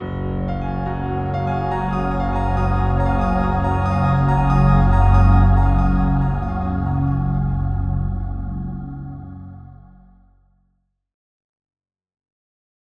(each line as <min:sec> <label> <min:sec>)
0:00.0 Lush Crescendo 0:10.1